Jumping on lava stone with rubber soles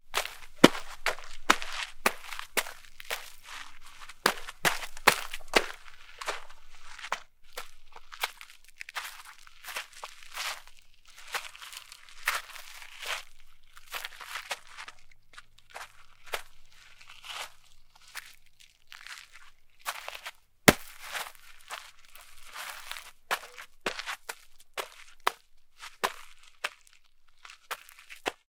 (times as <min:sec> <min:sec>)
0:00.1 0:08.4, 0:20.7 0:26.9, 0:27.6 0:28.4